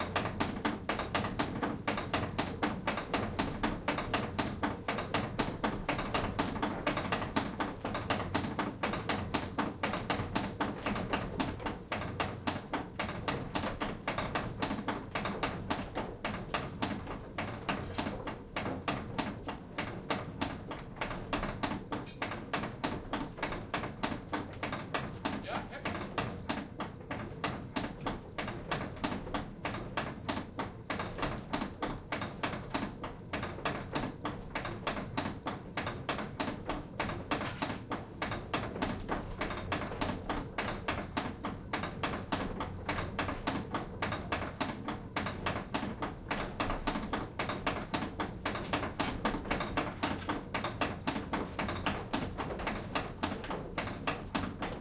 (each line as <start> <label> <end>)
0.0 large wooden shovel which is tapping against the turning millstone 54.8